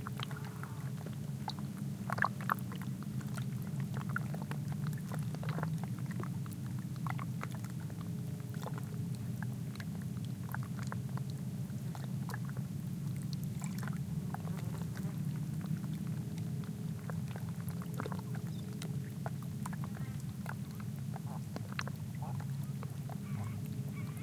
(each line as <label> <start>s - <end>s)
bird calls 23.2s - 24.2s